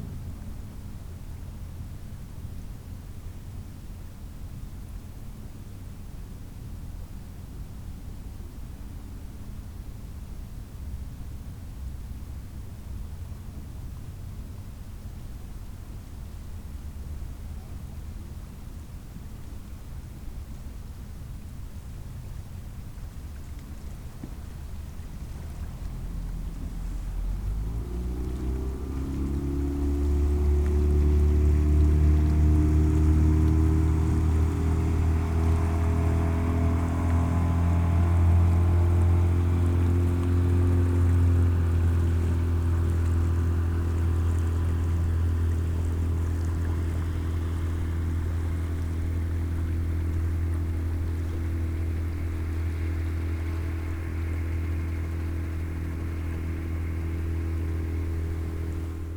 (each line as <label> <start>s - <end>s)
Boats in the river 0.0s - 59.1s